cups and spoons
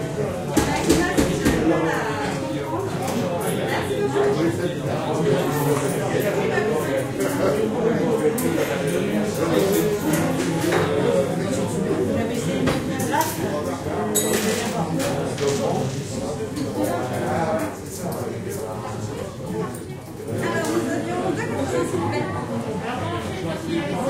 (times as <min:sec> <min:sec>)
0:14.1 0:14.8